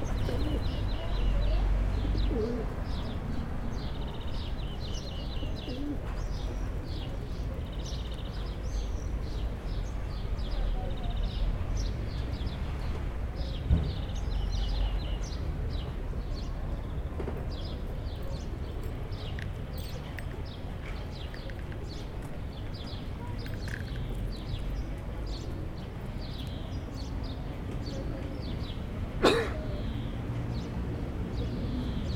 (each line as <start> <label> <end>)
0.0 pigeons 3.2
3.8 pigeons 9.4